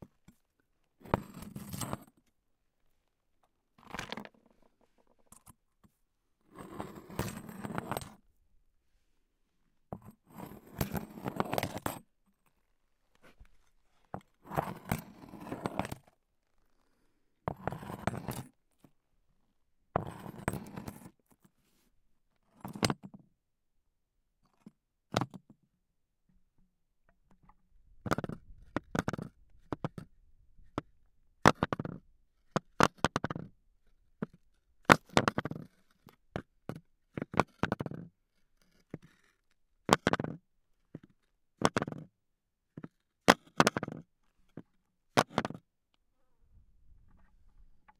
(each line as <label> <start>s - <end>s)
hitting, scratching and rolling all sorts of stones 3.8s - 5.6s
hitting, scratching and rolling all sorts of stones 34.2s - 38.1s
hitting, scratching and rolling all sorts of stones 39.9s - 42.1s
hitting, scratching and rolling all sorts of stones 42.8s - 45.6s